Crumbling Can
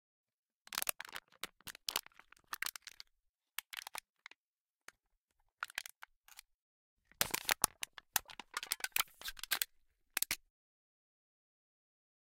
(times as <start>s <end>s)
7.2s 10.4s